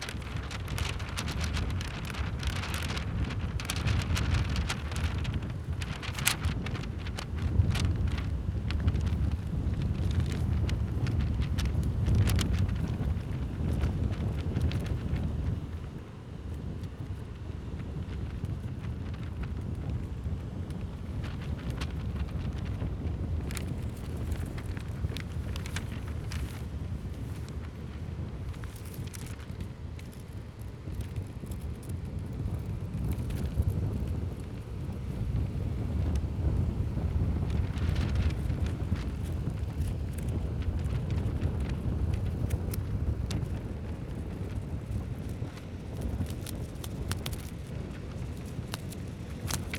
magazine fluttering in the wind 0.0 - 49.7

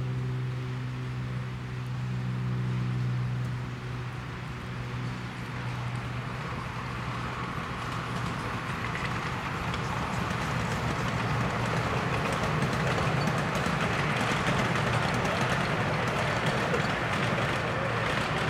airplane overhead 0.0 - 18.4
steam train 4.6 - 18.4

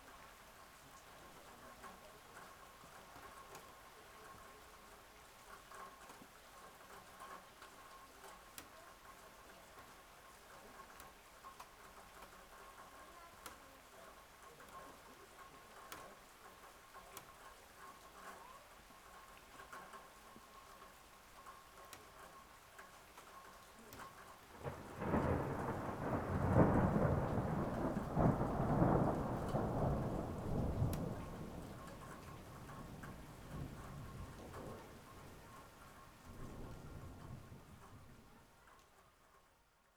light ice rain 0.0 - 39.9
thunder 24.6 - 35.5

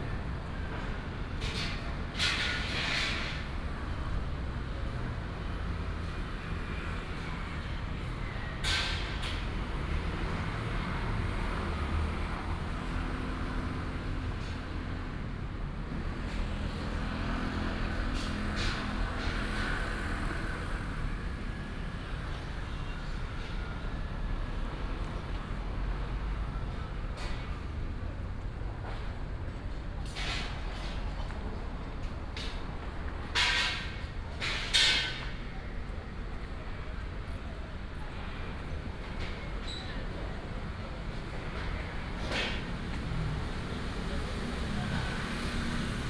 traffic sound 0.0 - 46.0
Site construction sound 30.0 - 35.5

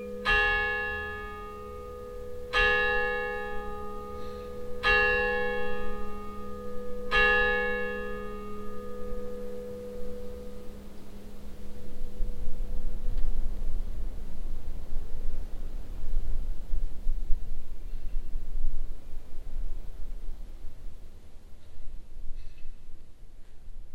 church bells 0.0 - 14.8

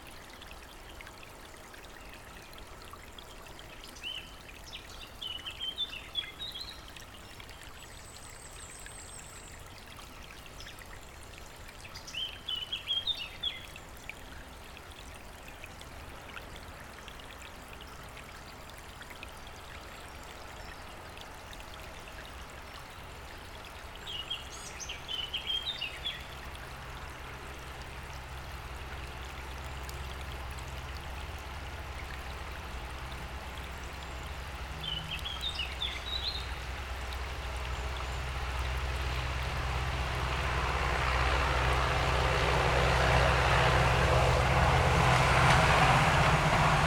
tractor passing by 38.2 - 46.8

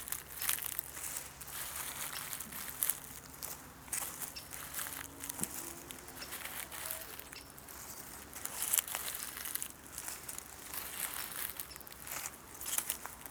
steps barefoot on oak dead leaves, acorns and brushes 0.0 - 13.3

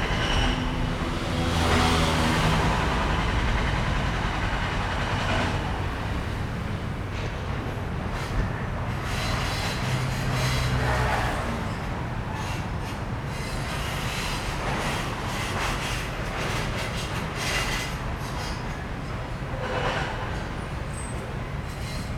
Construction noise 0.0 - 22.1
traffic sound 0.0 - 22.1

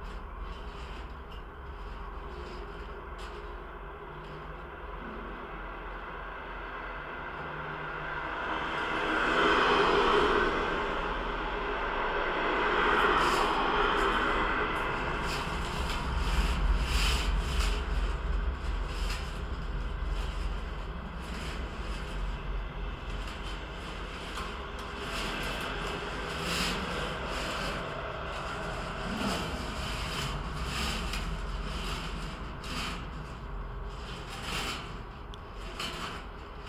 traffic resonate throughout the fence 0.0 - 36.6
tree branches brushing against it 12.6 - 36.6

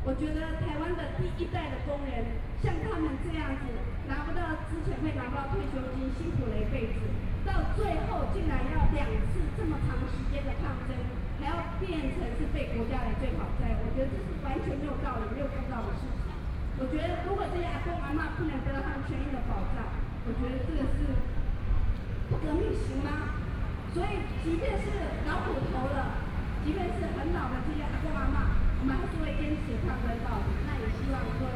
Traffic Noise 0.0 - 31.5

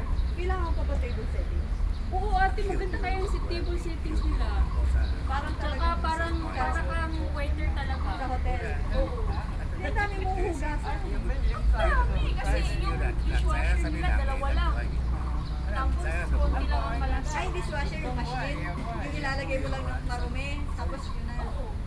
Birds sound 0.0 - 21.8
Traffic Sound 0.0 - 21.8

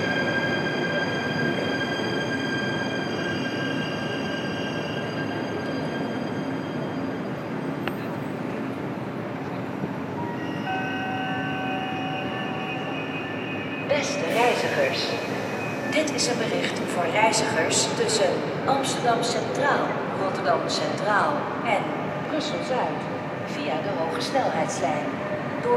passing trains 0.0 - 25.7
endless announcements 12.2 - 25.0
people talking 13.9 - 15.3
people talking 15.9 - 25.7

